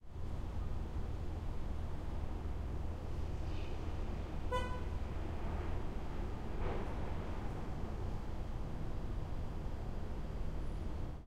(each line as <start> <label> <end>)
0.0 city rumble 11.2
4.5 Car Horn Honk 4.8